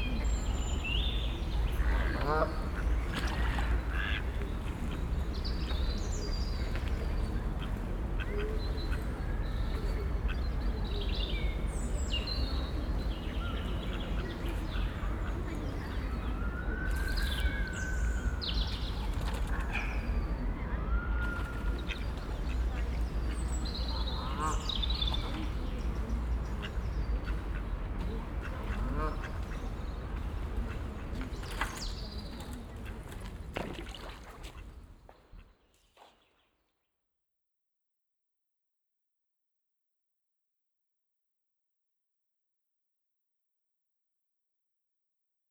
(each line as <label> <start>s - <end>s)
ducks 1.6s - 5.1s
ducks 21.2s - 34.6s